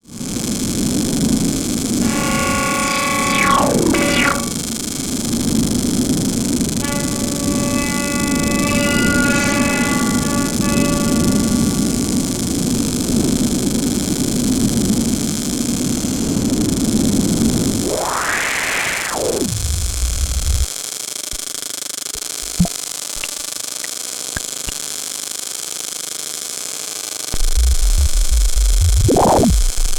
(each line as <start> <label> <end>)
2.0 random FM'd wavelets 5.4
2.0 pulsar synthesis 4.7
6.0 crackle 11.8
17.7 pink noise 20.7
17.7 random FM'd wavelets 20.7
17.8 pulsar synthesis 20.7
19.1 crackle 20.7
21.3 crackle 29.9
22.4 random FM'd wavelets 23.3
27.4 pink noise 29.9
27.4 pulsar synthesis 29.9
27.4 random FM'd wavelets 29.9